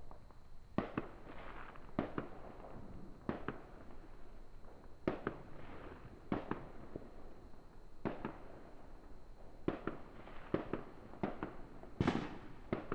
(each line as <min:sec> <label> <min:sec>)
0:09.7 people shooting off fireworks 0:12.9